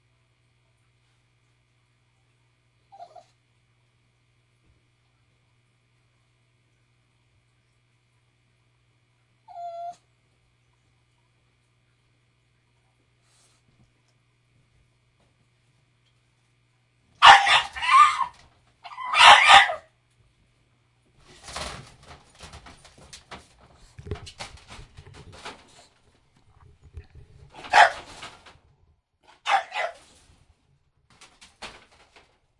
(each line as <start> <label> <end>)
17.2 English Bulldog crying, barking, and howling 19.9
17.2 toy poodle also howling in the background 19.9
27.6 English Bulldog crying, barking, and howling 28.0
29.4 English Bulldog crying, barking, and howling 30.0